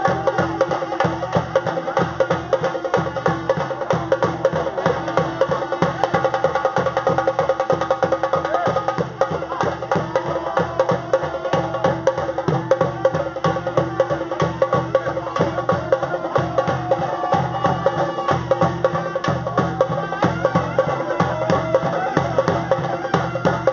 Drummers 0:00.0 - 0:23.7

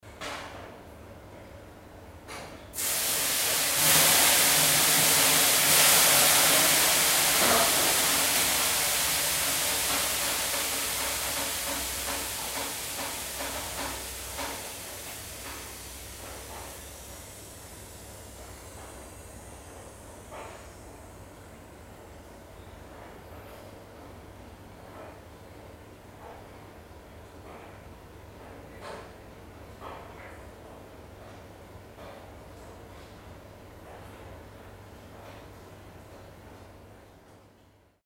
steam 0:02.7 - 0:24.1

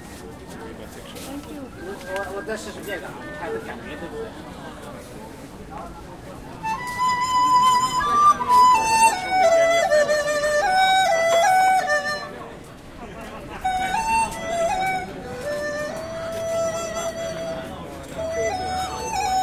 man selling instruments 0:00.0 - 0:19.4
people 0:00.0 - 0:19.4
music 0:06.6 - 0:12.4
music 0:13.6 - 0:19.4

